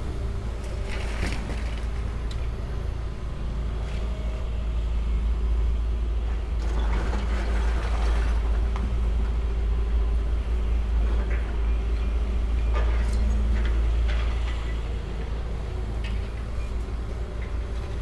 6.2s Demolition of old pink Art Deco factory 18.0s

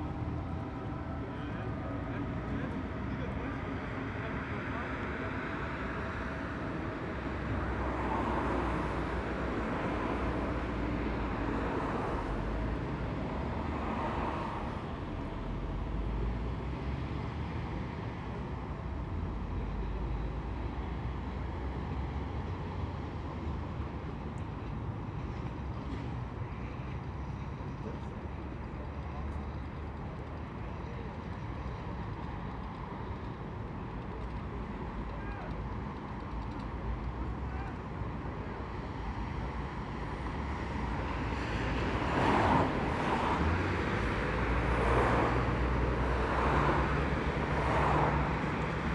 0.0s Dense morning traffic 48.9s

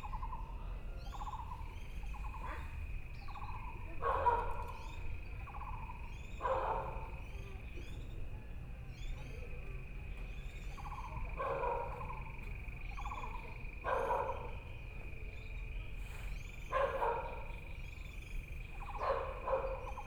1.1s Insects sound 20.0s
4.0s Dogs barking 4.8s
6.4s Dogs barking 7.1s
10.1s Birdsong 20.0s
10.7s Frogs sound 14.7s
11.3s Dogs barking 12.2s
13.8s Dogs barking 14.6s
16.7s Dogs barking 17.6s
18.8s Dogs barking 20.0s

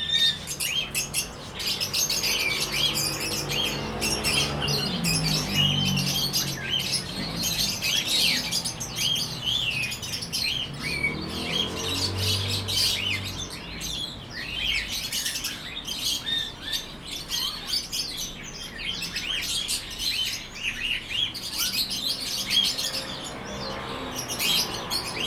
0.0s Traffic Sound 25.2s

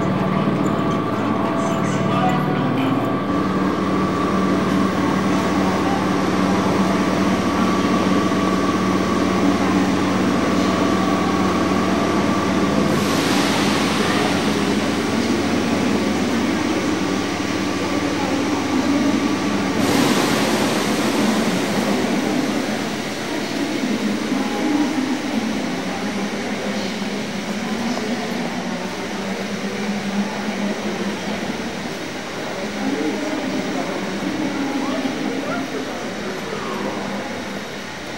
0.0s announcements 20.2s
0.0s station waggons 38.1s
0.0s train arrives 38.1s
0.0s voices 38.1s

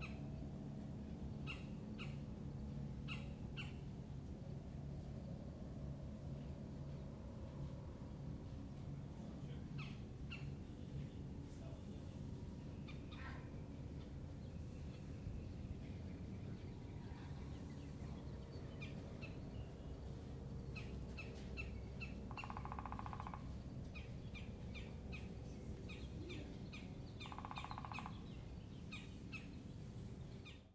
0.0s Boat 28.4s
20.8s woodpecker 25.3s
26.7s woodpecker 29.5s

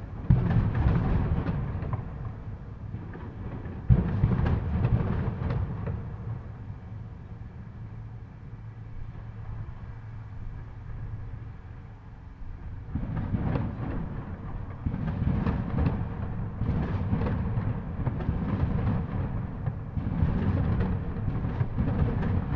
0.0s fireworks reflecting off the buildings 8.0s
12.4s fireworks reflecting off the buildings 22.5s

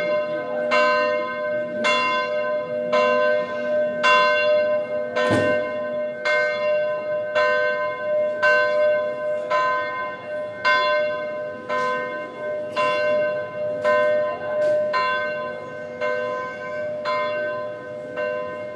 0.0s bell is ringing twelve 18.7s

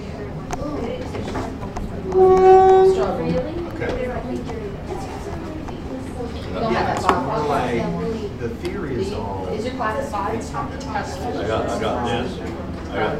0.0s Teacher and Students talking 13.1s

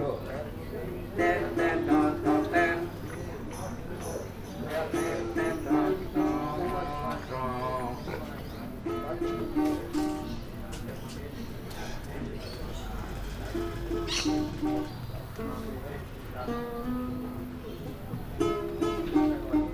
0.0s street sounds 19.7s
1.1s guitar that is equally out of tune 3.0s
1.2s singer sings out of tune 3.0s
4.7s singer sings out of tune 8.0s
4.8s guitar that is equally out of tune 8.0s
8.6s guitar that is equally out of tune 11.6s
13.2s guitar that is equally out of tune 19.7s

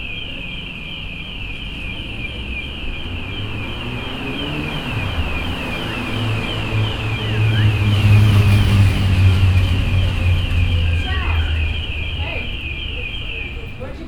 0.0s hour bell 14.0s
0.0s traffic passing by 14.0s

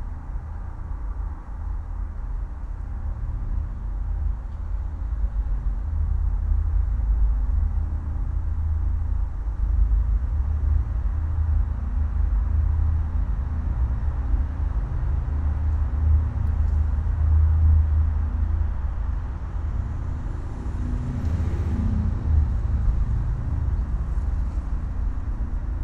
0.0s urban rumour filtered through a pvc pipe 25.8s

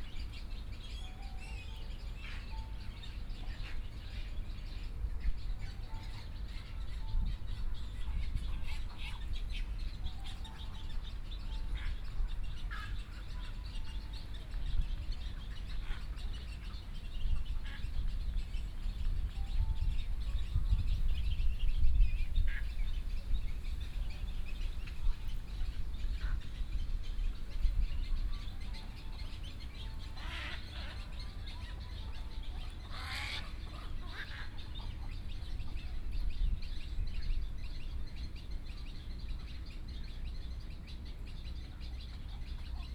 0.0s Birdsong 42.9s
28.1s White egrets 36.1s

